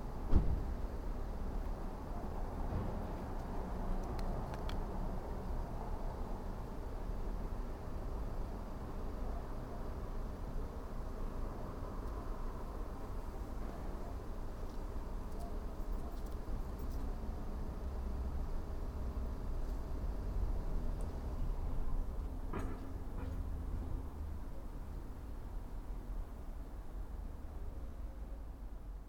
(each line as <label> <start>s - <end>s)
traffic 0.0s - 29.0s